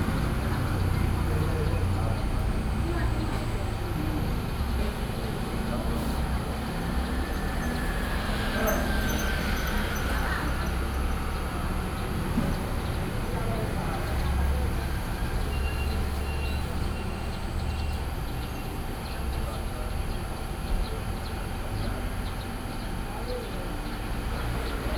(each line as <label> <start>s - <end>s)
traffic sound 0.0s - 24.9s